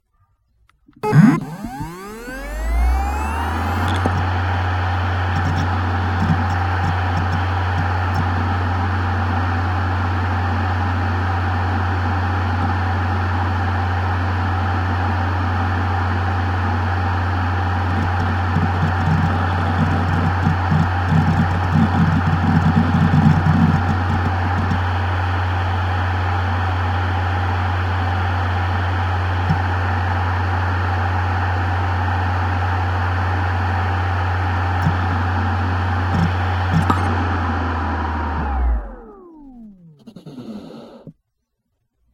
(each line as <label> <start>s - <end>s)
external USB hard drive 1.0s - 4.4s
external USB hard drive 5.2s - 8.5s
external USB hard drive 17.7s - 24.8s
external USB hard drive 34.8s - 41.1s